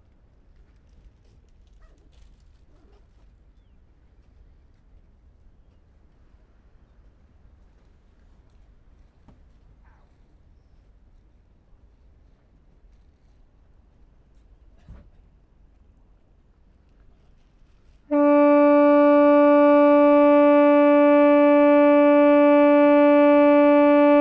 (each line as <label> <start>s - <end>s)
Foghorn 18.1s - 24.2s